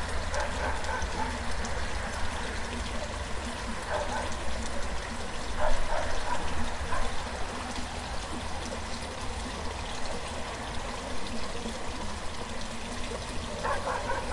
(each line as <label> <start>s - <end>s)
river 0.0s - 14.3s
barking 0.3s - 1.4s
barking 3.9s - 4.4s
barking 5.6s - 7.2s
barking 13.6s - 14.3s